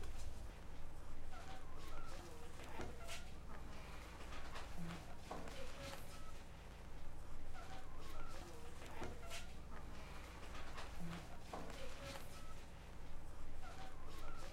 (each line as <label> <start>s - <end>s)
woman cleaning the hall of her house 7.6s - 13.0s
parrot 13.6s - 14.5s